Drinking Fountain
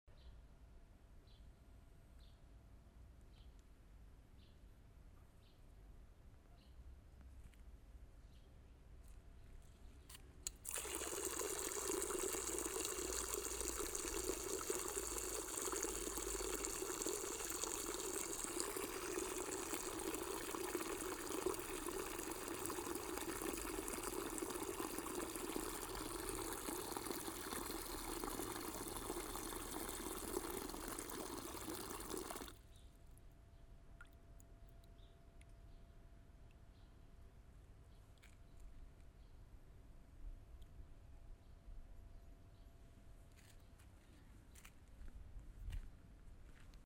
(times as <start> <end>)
10.5 32.6